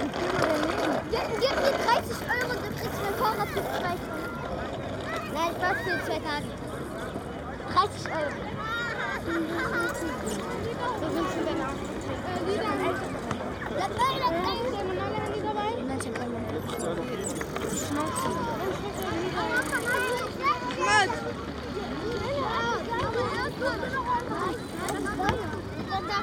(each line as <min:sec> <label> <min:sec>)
0:00.0 Passanten im Gespräch 0:26.2
0:00.0 Wind 0:26.2